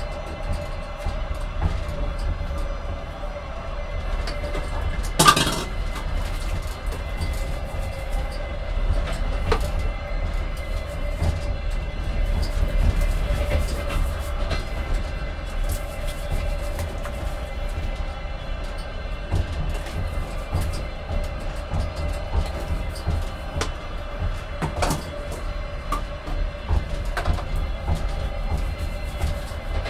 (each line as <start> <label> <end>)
5.1 rattle 6.5